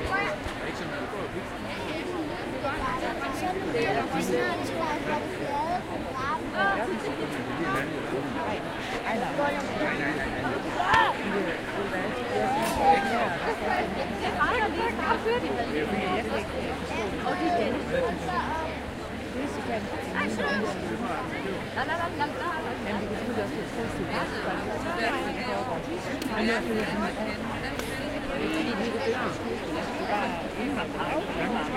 big crowd chatter 0:00.0 - 0:31.7

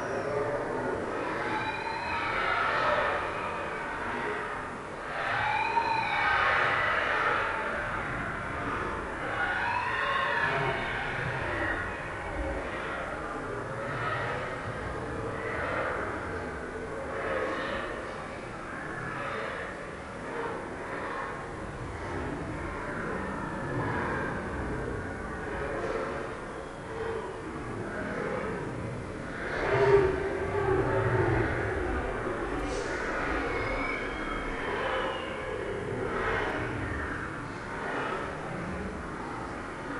scary monsters living in caves 0:00.2 - 0:39.9

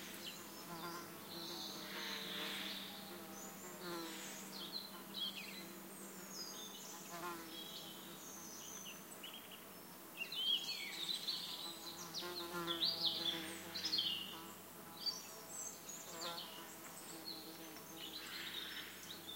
buzzing insects 0:00.0 - 0:09.2
singing birds 0:00.0 - 0:19.3
buzzing insects 0:10.6 - 0:19.3

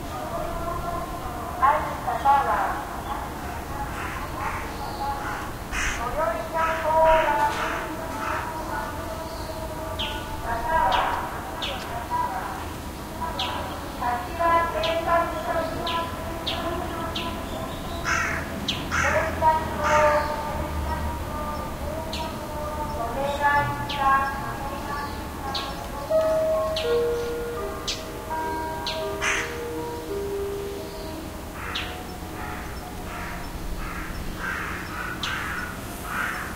Speaker Broadcast 0:00.0 - 0:18.2
Birds 0:00.0 - 0:36.5
cicadas 0:00.0 - 0:36.5
Speaker Broadcast 0:18.9 - 0:29.1

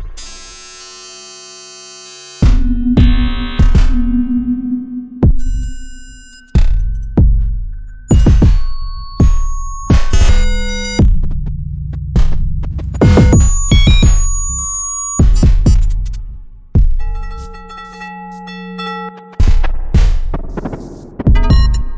synthesizer 0:02.3 - 0:11.1
synthesizer 0:12.9 - 0:21.9

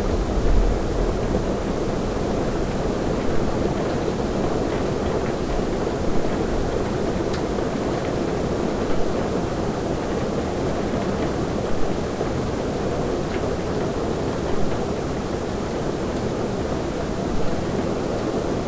Hard Rain on Flat Roof 0:00.0 - 0:18.6

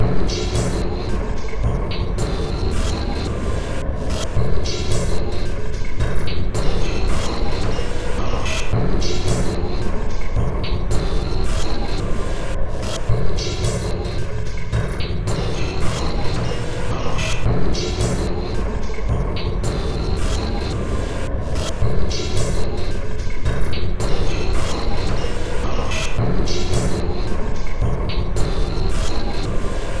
Drum Loop 0:13.1 - 0:21.0

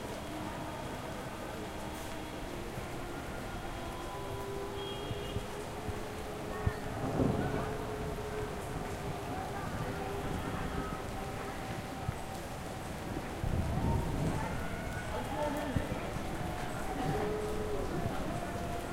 Light rain 0:00.0 - 0:18.9
kids playing in the streets 0:00.0 - 0:18.9
thunder 0:06.6 - 0:11.1
thunder 0:13.1 - 0:15.1

